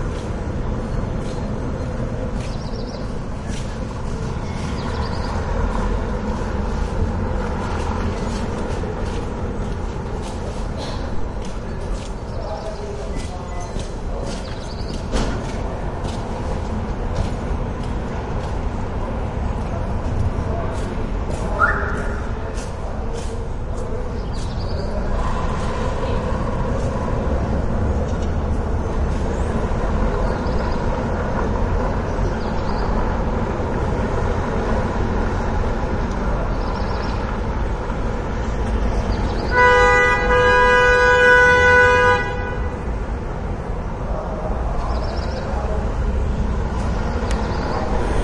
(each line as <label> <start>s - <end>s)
traffic 0.0s - 48.2s
people 7.7s - 30.5s